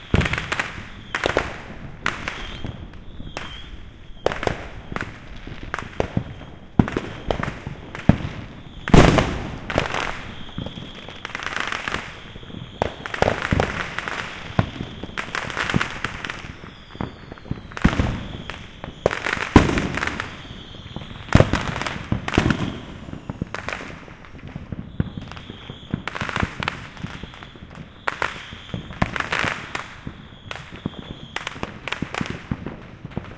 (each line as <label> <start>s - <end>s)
Fireworks going off 0.0s - 33.3s
firecrackers 0.0s - 33.3s